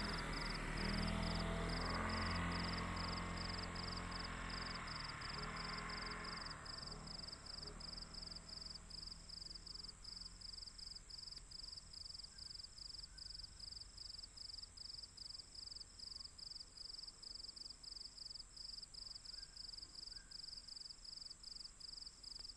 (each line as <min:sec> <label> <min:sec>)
0:00.0 Traffic sound 0:10.8
0:00.0 Insect noise 0:22.5